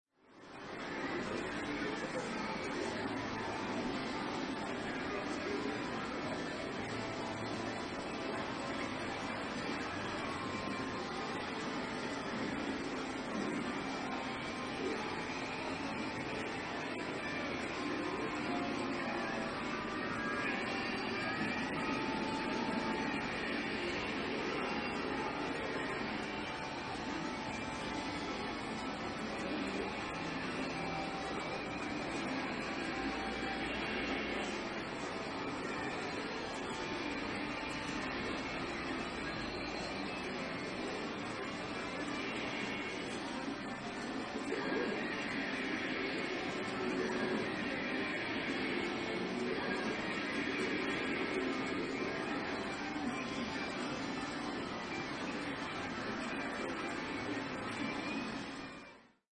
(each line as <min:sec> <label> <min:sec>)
0:00.2 background music 0:59.2
0:00.6 loud machines 0:58.8